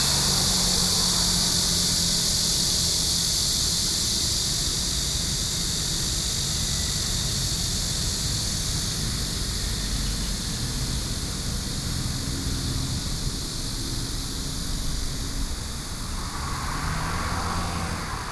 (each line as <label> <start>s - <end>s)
Traffic Sound 0.0s - 3.3s
Cicada sounds 0.0s - 18.3s
Traffic Sound 12.1s - 18.3s